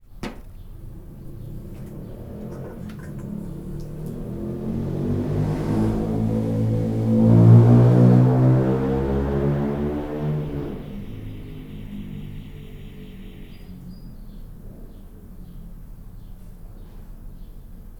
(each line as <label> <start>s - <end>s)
distant alarm 0.2s - 14.3s
Noisy car passing kind of fast 0.4s - 17.9s